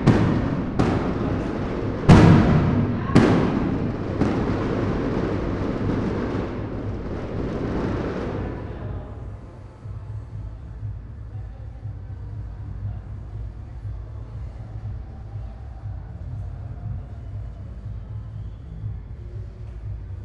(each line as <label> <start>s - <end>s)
fireworks 0.0s - 9.5s